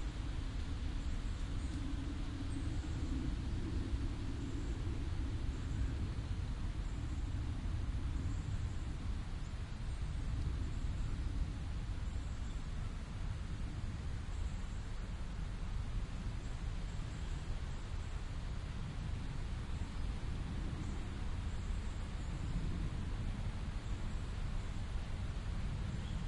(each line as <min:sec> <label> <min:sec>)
0:00.0 airplane can be heard passing overhead 0:26.2
0:00.0 winds are rustling the leaves 0:26.2